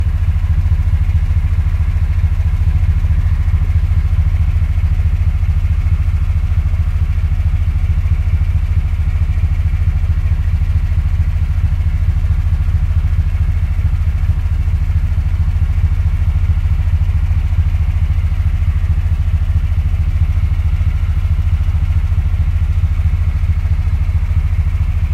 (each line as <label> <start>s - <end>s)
eight-cylinder engine idling 0.0s - 25.1s